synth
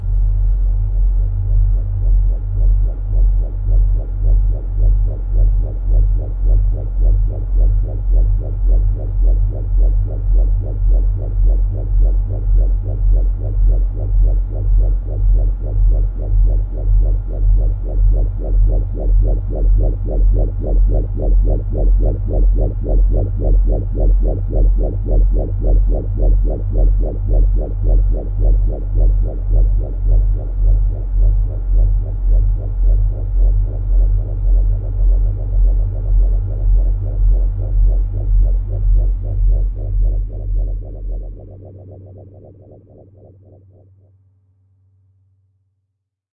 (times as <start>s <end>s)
34.8s 43.9s